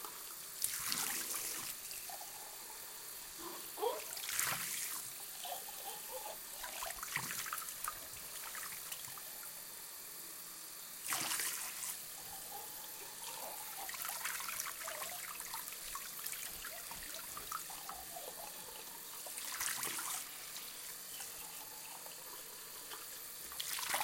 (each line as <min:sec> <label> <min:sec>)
0:11.0 Washing dishes in sink 0:24.0